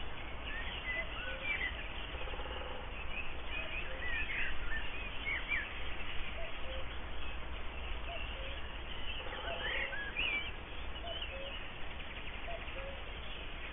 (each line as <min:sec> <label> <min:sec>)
0:00.0 Birds 0:13.7
0:00.8 cuckoo 0:04.8
0:06.3 cuckoo 0:07.0
0:08.0 cuckoo 0:11.6
0:12.4 cuckoo 0:13.7